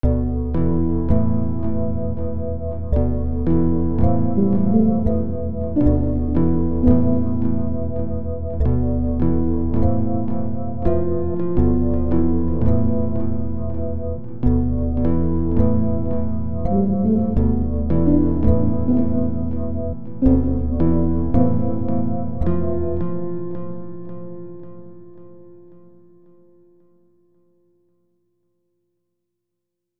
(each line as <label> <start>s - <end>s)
pad melody 0.9s - 23.8s